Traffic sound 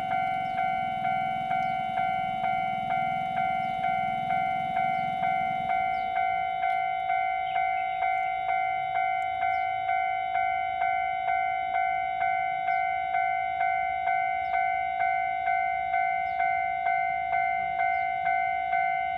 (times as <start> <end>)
0.0 7.0